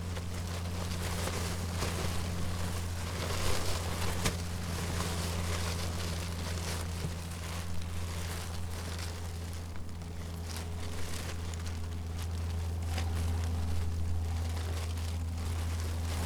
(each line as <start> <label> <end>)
0.0 cellophane in the wind 16.2